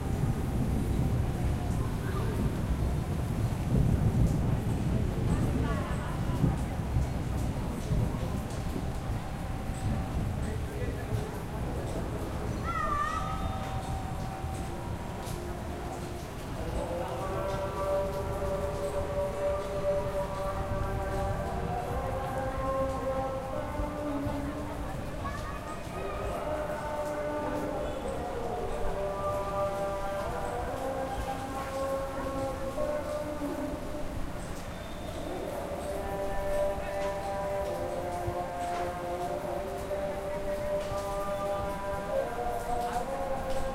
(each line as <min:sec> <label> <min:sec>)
0:00.0 Light rain 0:43.7
0:00.1 thunder 0:10.4
0:00.7 kids playing in the streets 0:18.7
0:20.0 kids playing in the streets 0:43.3